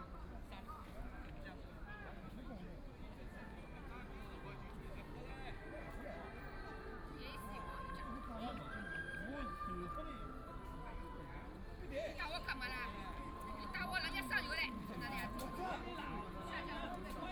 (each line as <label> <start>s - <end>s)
people gathered together playing cards 9.5s - 17.3s